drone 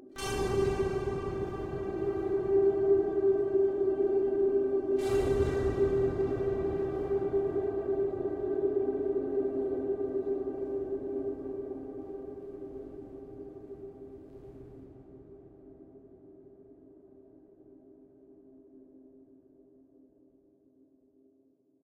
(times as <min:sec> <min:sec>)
0:00.2 0:15.0